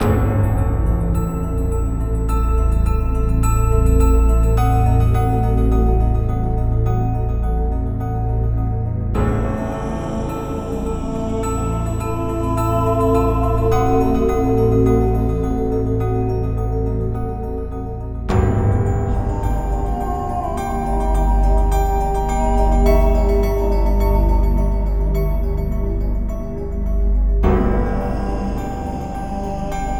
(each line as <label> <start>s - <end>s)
horror music 0.0s - 29.9s